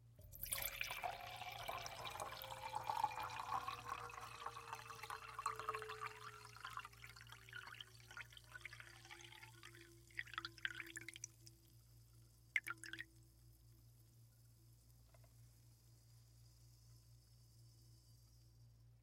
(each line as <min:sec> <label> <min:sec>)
0:00.2 bubbles fizzing 0:11.4
0:00.2 Pour Champagne into Wine Glass 0:11.6
0:12.6 bubbles fizzing 0:13.0
0:12.6 Pour Champagne into Wine Glass 0:13.1